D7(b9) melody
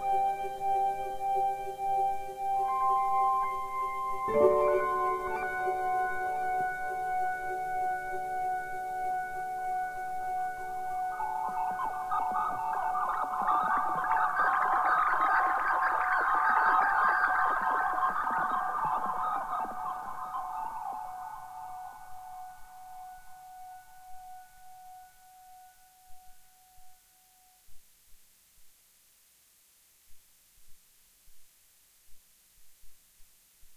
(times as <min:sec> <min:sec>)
0:00.3 0:12.1